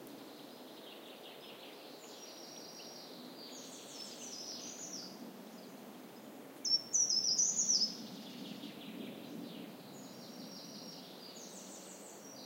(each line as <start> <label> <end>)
0.0 breeze on trees 12.4
0.2 birds singing 12.4